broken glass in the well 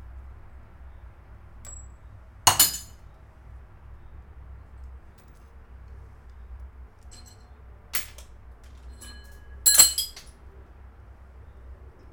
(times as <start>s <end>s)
2.5s 2.9s, 9.0s 10.2s